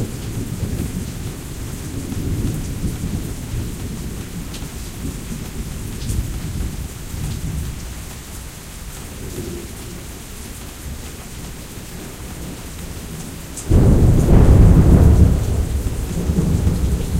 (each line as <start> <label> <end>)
13.6 Heavy-Thunder 17.1